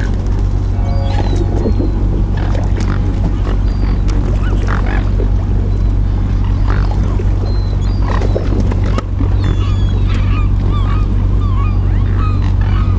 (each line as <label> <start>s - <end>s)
gathering of swans 0.0s - 12.9s
motor boat passes 0.0s - 12.9s